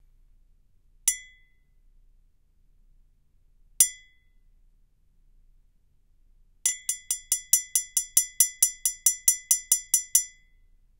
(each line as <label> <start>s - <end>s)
Coffee mug strikes and clanks 1.1s - 1.4s
Coffee mug strikes and clanks 6.7s - 10.4s